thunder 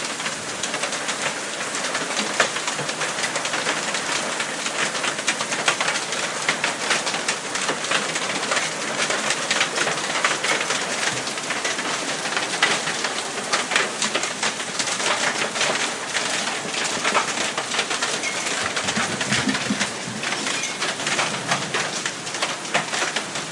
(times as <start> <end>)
18.6 21.7